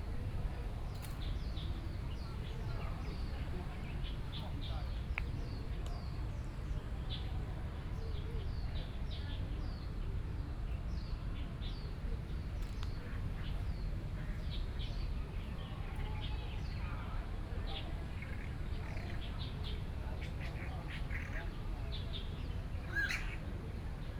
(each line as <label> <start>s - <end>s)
Birdsong sounds 0.6s - 7.3s
Birdsong sounds 10.9s - 23.5s